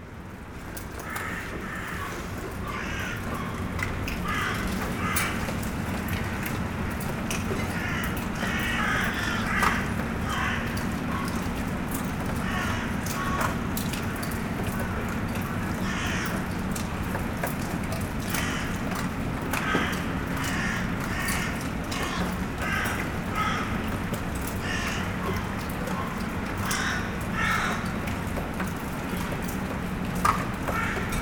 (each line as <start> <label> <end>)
0.0 small rain 31.2
1.0 Crows are shouting 5.7
7.6 Crows are shouting 11.5
12.4 Crows are shouting 13.6
15.6 Crows are shouting 16.5
18.3 Crows are shouting 18.8
19.5 Crows are shouting 28.1
30.6 Crows are shouting 31.2